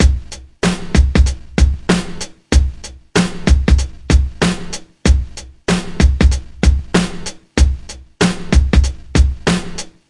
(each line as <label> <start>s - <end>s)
beat 0.0s - 10.0s
snare 1.9s - 2.3s
snare 4.4s - 4.8s
snare 7.0s - 7.4s
snare 8.2s - 8.5s
snare 9.5s - 10.0s